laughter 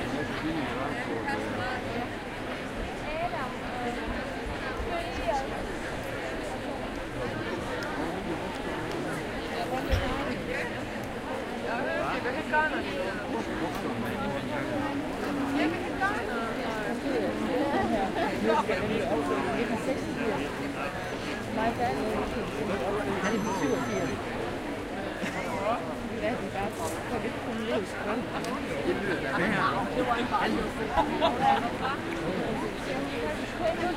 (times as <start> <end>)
25.2 25.7, 30.9 32.0